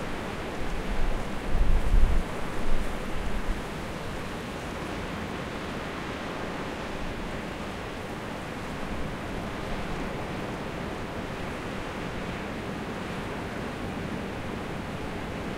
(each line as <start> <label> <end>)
0.0 wind noise 4.1
0.0 waves breaking on the beach 15.5